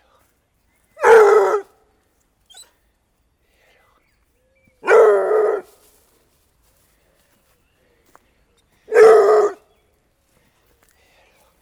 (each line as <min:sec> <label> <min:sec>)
0:00.0 others small dogs are following 0:03.1
0:01.0 Dogs barking 0:01.7
0:04.2 others small dogs are following 0:11.6
0:04.8 Dogs barking 0:05.8
0:08.9 Dogs barking 0:09.7